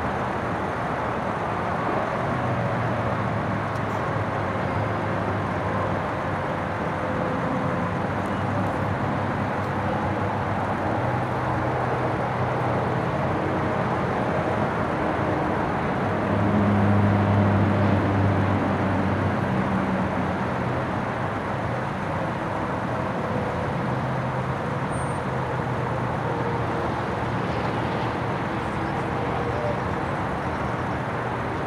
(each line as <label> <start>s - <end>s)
cars and trucks can be heard pulling in and out 0.0s - 31.6s
roar of traffic is constant 0.0s - 31.6s